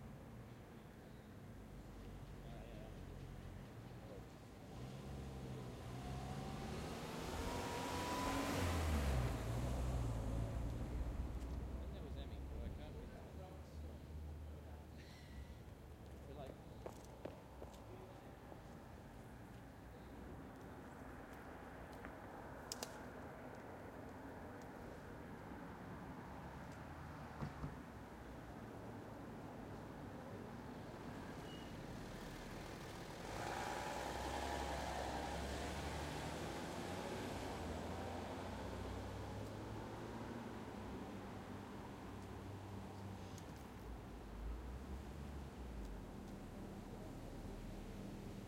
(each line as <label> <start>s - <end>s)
cars 1.4s - 48.4s
truck 1.8s - 13.2s
truck 30.0s - 48.4s